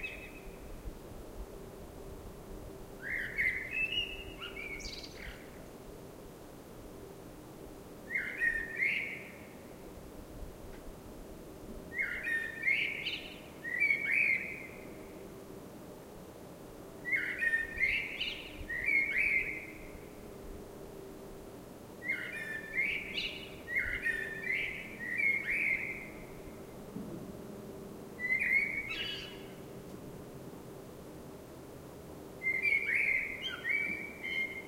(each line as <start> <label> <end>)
0.0 blackbird singing 0.6
3.0 blackbird singing 5.6
8.1 blackbird singing 9.5
11.9 blackbird singing 14.8
17.1 blackbird singing 19.9
22.0 blackbird singing 26.4
28.2 blackbird singing 29.6
32.4 blackbird singing 34.6